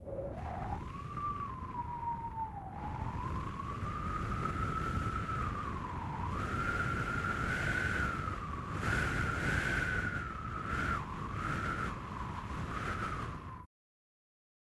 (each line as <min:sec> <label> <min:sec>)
0:00.0 cold winterbreeze 0:13.7